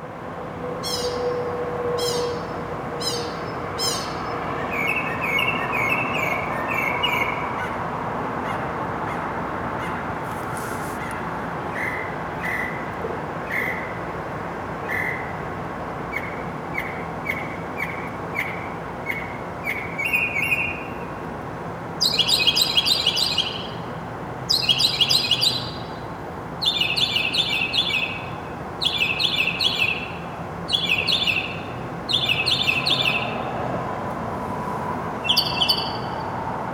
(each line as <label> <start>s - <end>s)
Solo Mockingbird Between Buildings 0.8s - 7.8s
Solo Mockingbird Between Buildings 22.0s - 33.7s
Solo Mockingbird Between Buildings 35.1s - 36.5s